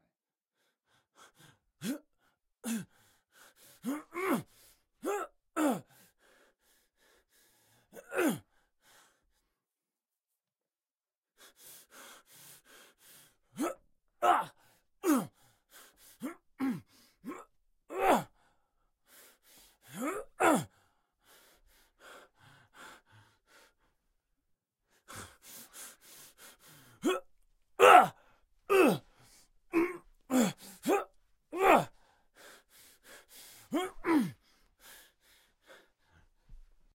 pain 3.8 - 5.8
pain 8.0 - 8.4
pain 13.6 - 15.3
pain 16.2 - 18.3
pain 19.9 - 20.7
Angry breath 25.0 - 36.6
pain 27.0 - 29.1
pain 29.7 - 31.9
pain 33.7 - 34.4

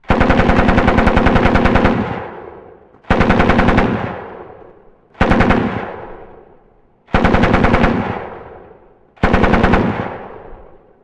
machine gun sound 9.2 - 10.4

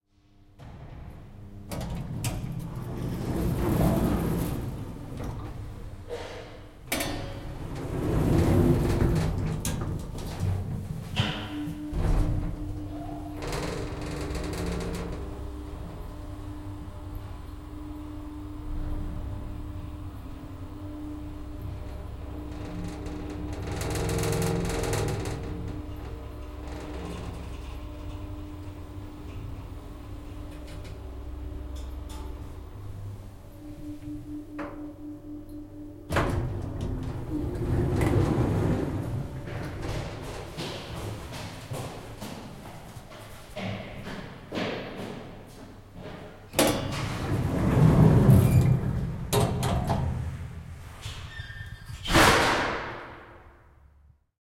doors open again 0.6 - 42.4
mechanism makes a bunch of noise 11.2 - 15.2
running person's footsteps echoing though a hallway 39.2 - 46.6
doors open again 46.0 - 53.7
mechanism makes a bunch of noise 50.9 - 53.7
Squeak 51.0 - 52.1
door closes loudly 52.0 - 53.4

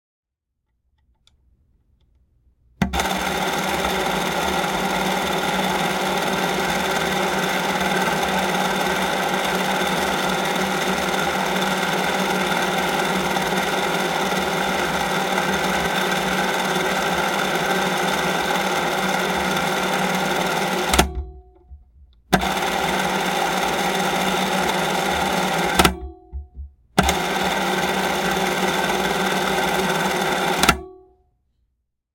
motor 2.9 - 21.2
motor 22.4 - 26.0
motor 27.0 - 30.8

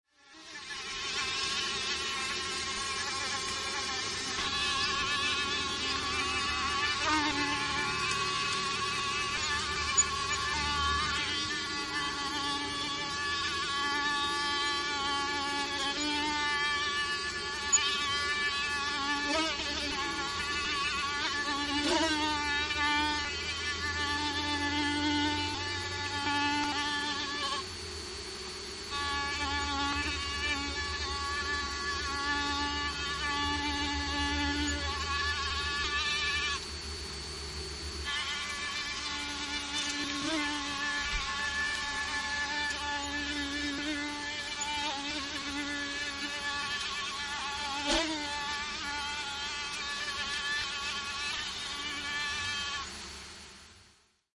Mosquitoes whining 0.1 - 53.1

